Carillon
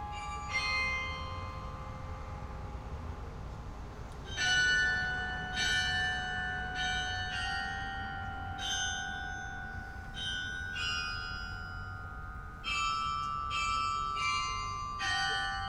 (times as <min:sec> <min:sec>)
0:04.2 0:15.6